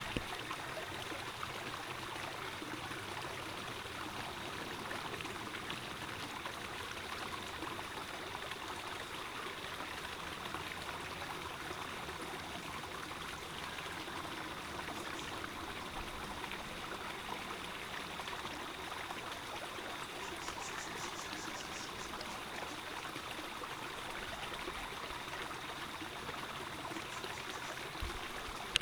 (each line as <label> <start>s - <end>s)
tiny little waterfall 0.0s - 28.8s
bird calls 20.2s - 22.5s